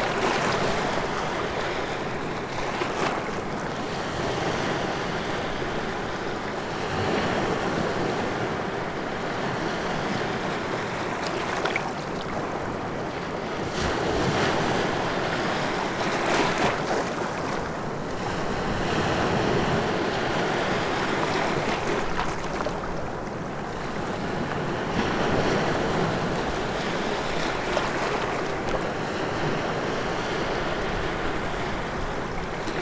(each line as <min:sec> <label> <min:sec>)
0:00.0 Baltic sea 0:32.8